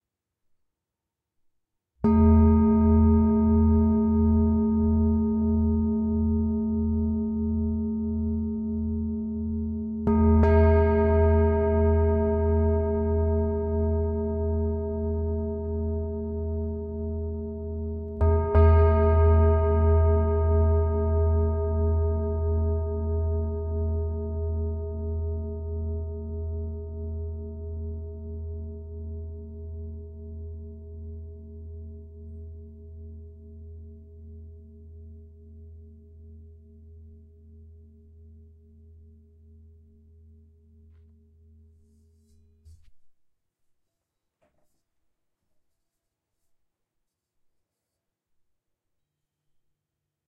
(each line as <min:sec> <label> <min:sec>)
0:02.0 antique singing bowl 0:42.4